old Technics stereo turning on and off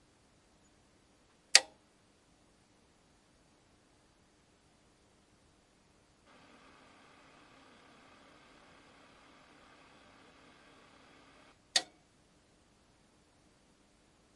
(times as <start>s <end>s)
6.2s 12.0s